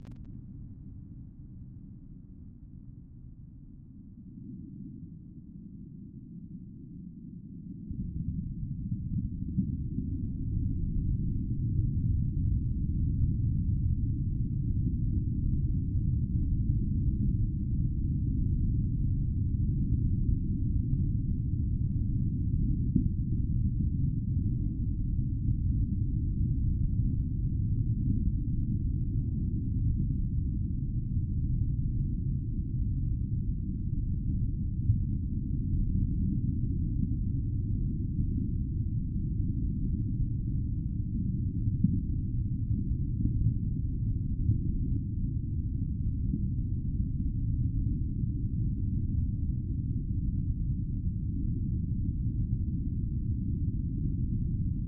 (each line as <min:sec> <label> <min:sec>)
0:00.0 Low-pitched underwater sound 0:00.7